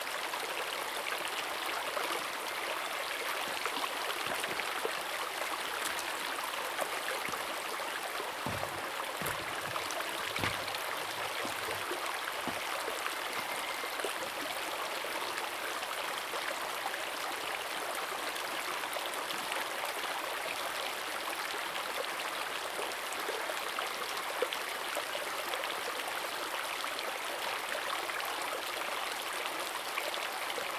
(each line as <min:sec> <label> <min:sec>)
0:00.0 Stream sound 0:17.7